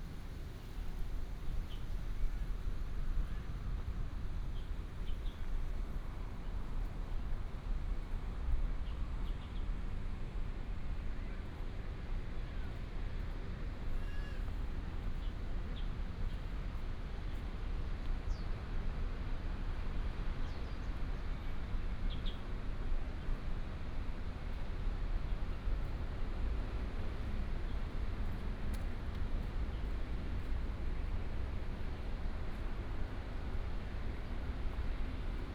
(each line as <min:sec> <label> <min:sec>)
0:09.2 walking in the Botanical garden 0:35.5